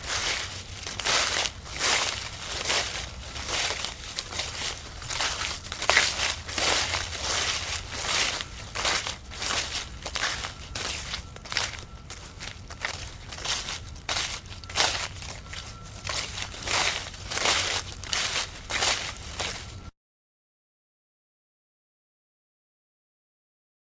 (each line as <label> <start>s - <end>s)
leaves being stepped on 0.0s - 19.9s